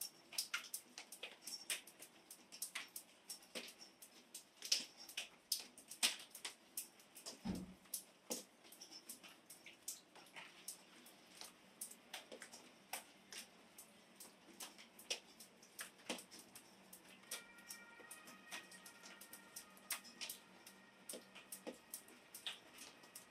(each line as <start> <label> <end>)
17.3 ambulance car 21.9